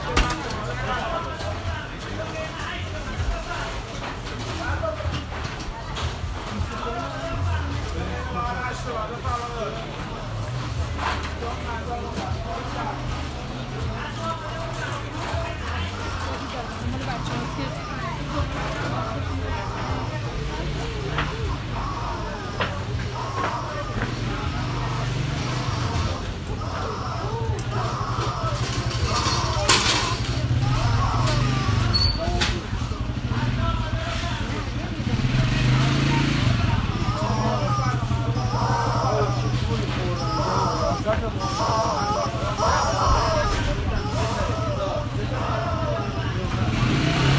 Hand pulled carts 14.4 - 33.6

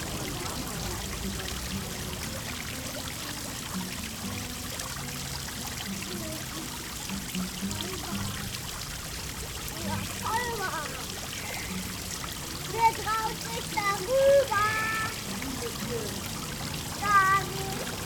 indian fountain 0.0 - 18.0
children 5.9 - 18.0

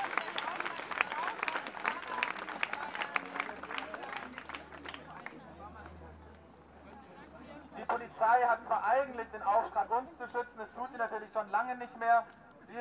speaker announces some requirements and program details 7.8 - 12.8

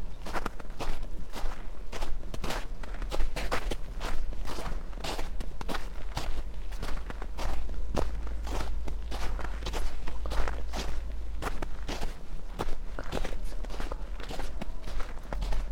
snow 0.0 - 15.7
steps 2.5 - 15.7
distant traffic noise 3.9 - 15.7

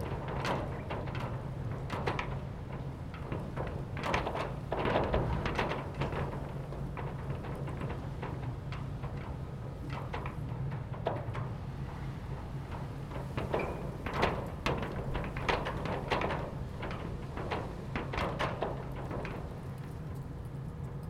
Industrial Rollerdoor Rattling In The Wind 0.0 - 21.0

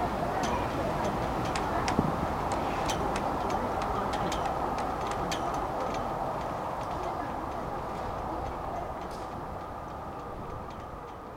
sails make caracteristic noises 0.0 - 11.3
strong wind blows in the boat matts 0.0 - 11.3

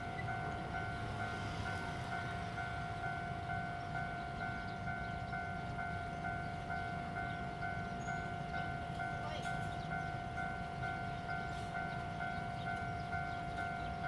Train traveling through 0.0 - 14.0

